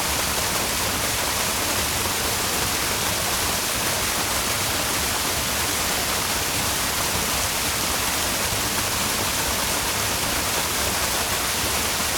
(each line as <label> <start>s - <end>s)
Small waterfall from Britna stream 0.0s - 12.1s